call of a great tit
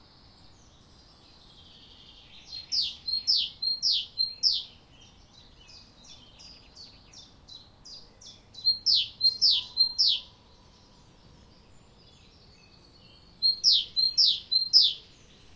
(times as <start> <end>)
1.6 11.0, 12.6 15.5